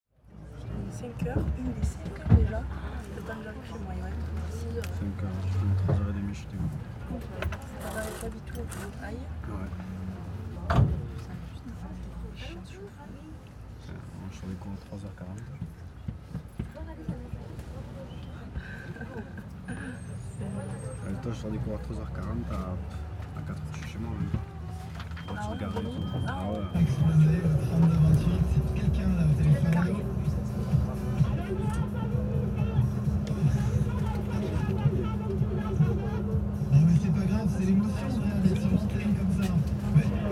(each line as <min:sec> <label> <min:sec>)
0:00.1 bus 0:40.3
0:00.2 people's conversations 0:40.3
0:23.8 air conditioning 0:40.3